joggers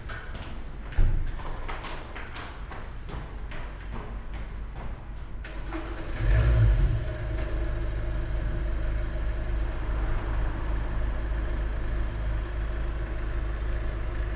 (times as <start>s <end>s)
0.0s 5.4s